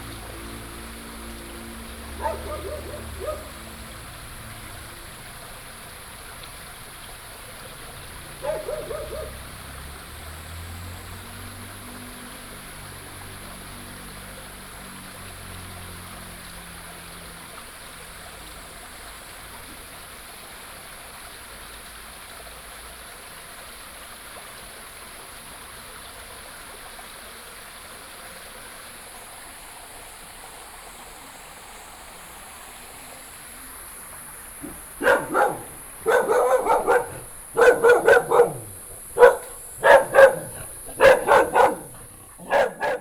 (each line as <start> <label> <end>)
0.0 Insects sounds 22.5
0.0 Walking along the stream 43.0
1.9 Dogs barking 4.4
2.2 Bird calls 3.6
7.7 Dogs barking 10.3
8.2 Bird calls 9.6
28.2 Insects sounds 43.0
34.5 Dogs barking 43.0
34.6 Bird calls 43.0